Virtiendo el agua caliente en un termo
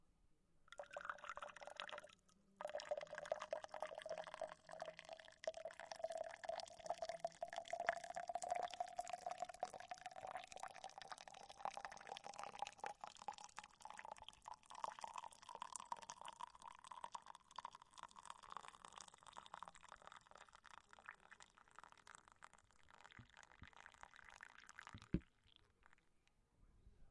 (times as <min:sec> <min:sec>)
0:22.8 0:26.1